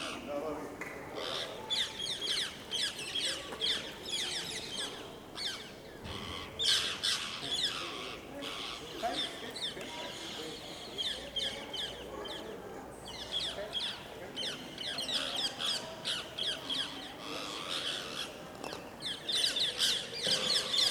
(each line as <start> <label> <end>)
0.0 People passing by in the background 20.9
1.2 birds on the medieval towers 12.5